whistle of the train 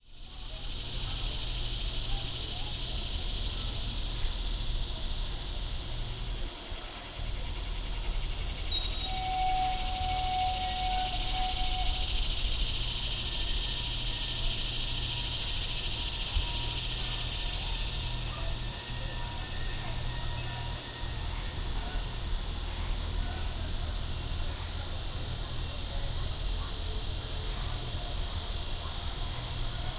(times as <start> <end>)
8.5 22.1